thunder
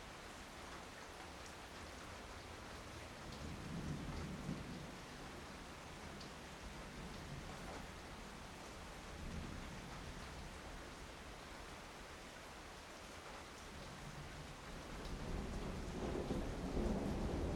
15.2s 17.5s

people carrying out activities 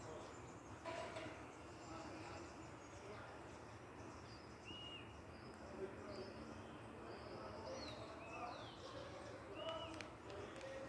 7.7s 10.8s

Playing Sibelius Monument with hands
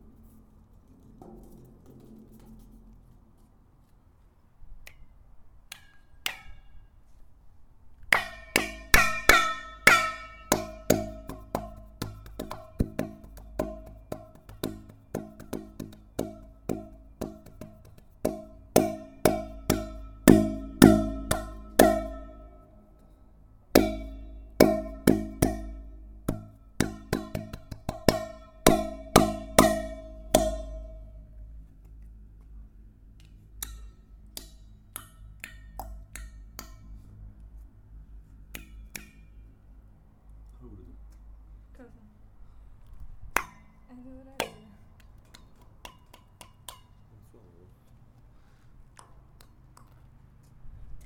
18.3s 22.8s, 23.8s 31.3s

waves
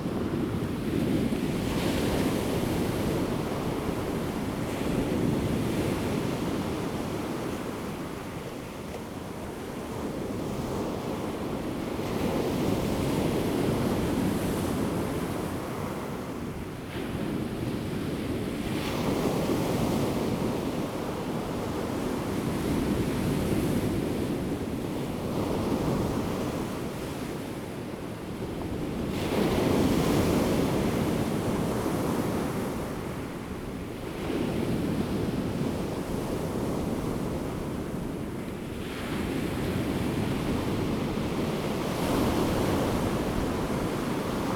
28.5s 44.5s

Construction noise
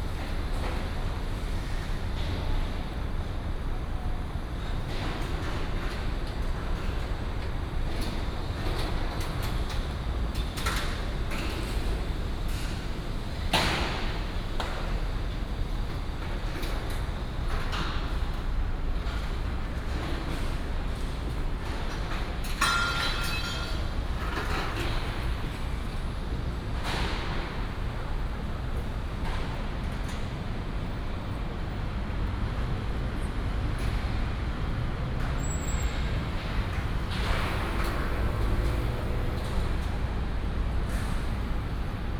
33.6s 42.1s

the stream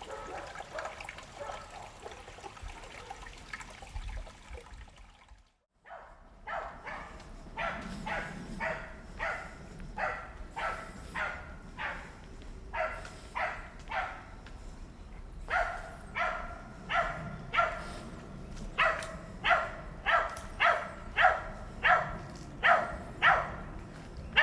0.0s 9.5s

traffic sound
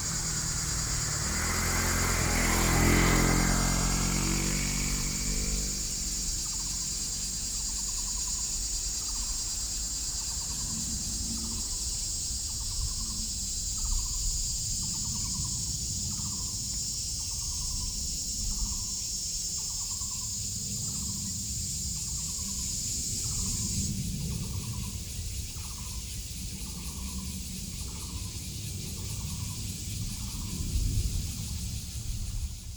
0.0s 11.0s

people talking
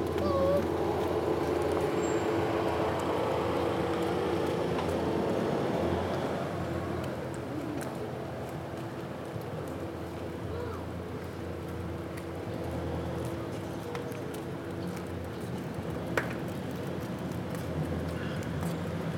0.0s 0.7s

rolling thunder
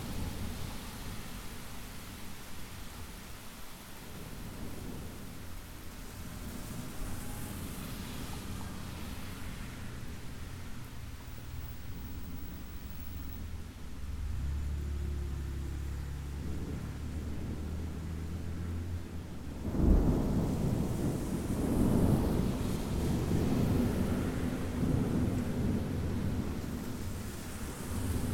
18.8s 27.2s

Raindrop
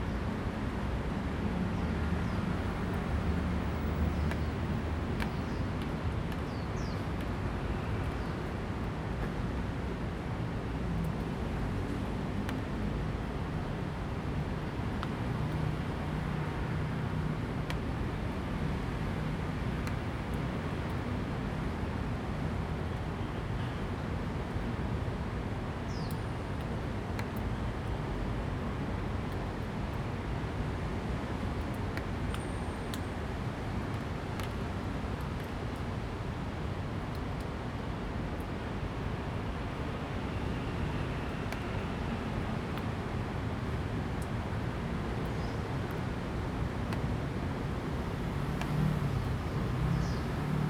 30.6s 50.6s

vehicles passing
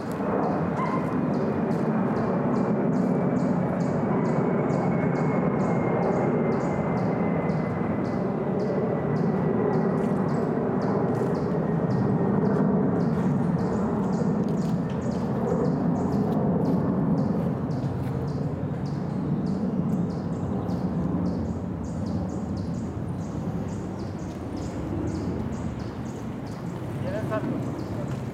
22.3s 28.3s

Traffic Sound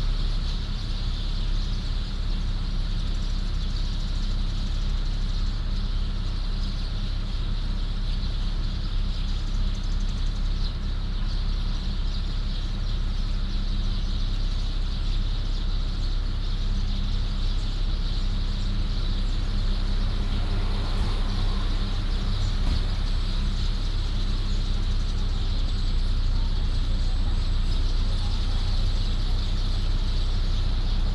17.8s 31.1s

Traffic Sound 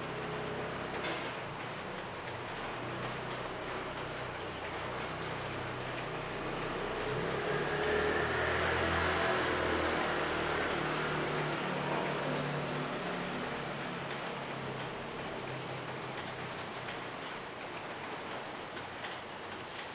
5.8s 17.0s

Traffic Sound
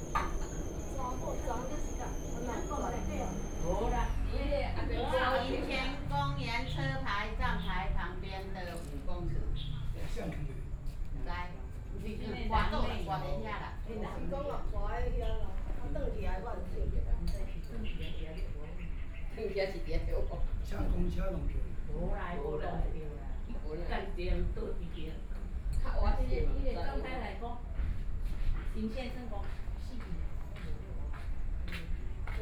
0.0s 11.1s

